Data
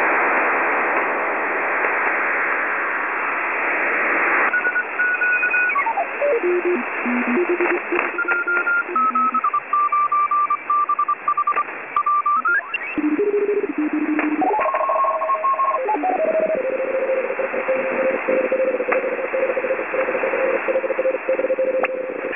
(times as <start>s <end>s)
4.5s 22.3s